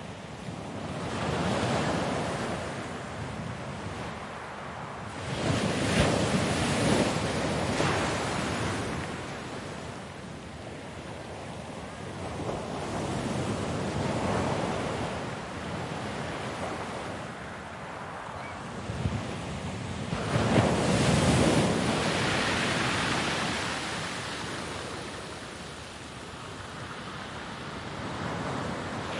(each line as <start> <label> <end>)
0.0 wind 29.1
16.1 waves breaking 29.1
28.8 children playing on beach 29.1